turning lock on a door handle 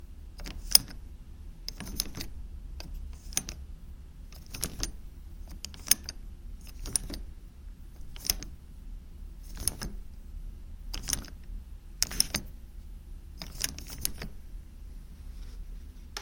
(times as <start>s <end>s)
0.4s 1.0s, 1.7s 3.6s, 4.3s 7.3s, 8.0s 8.6s, 9.4s 10.1s, 10.9s 12.5s, 13.4s 14.4s